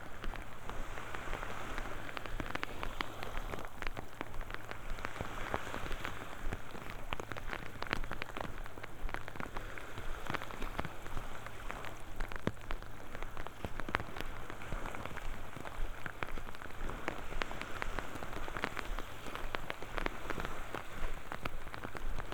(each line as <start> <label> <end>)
0.0 muted sound of the waves 22.3
0.0 rain drops drumming on the fabric 22.3
0.0 walking along the sea shore 22.3